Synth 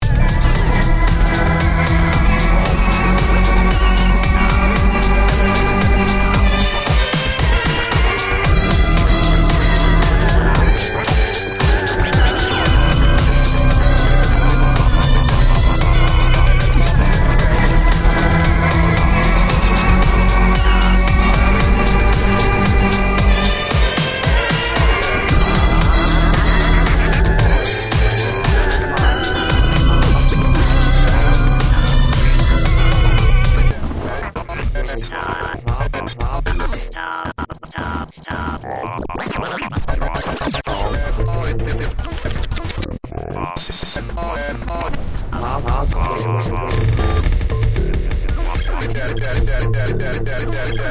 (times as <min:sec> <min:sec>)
0:00.0 0:33.8